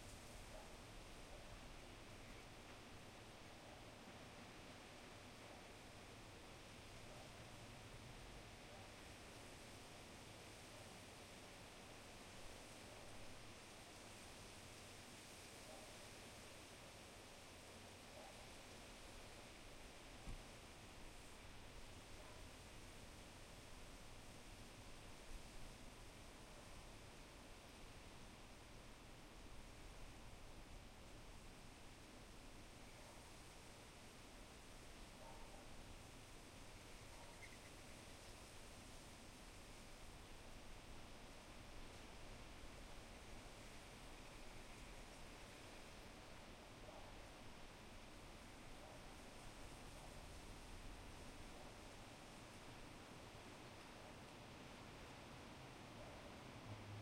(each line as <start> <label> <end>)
36.7 Birds 38.0